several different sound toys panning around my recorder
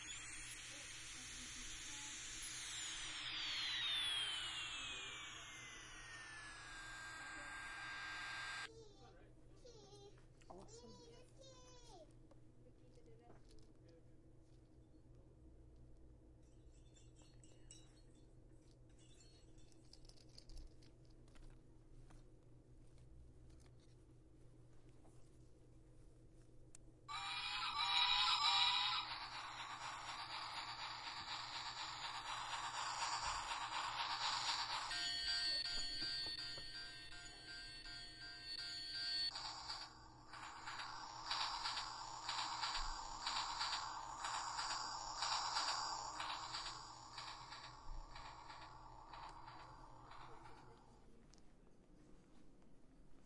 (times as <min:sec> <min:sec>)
0:00.0 0:09.0, 0:27.1 0:51.2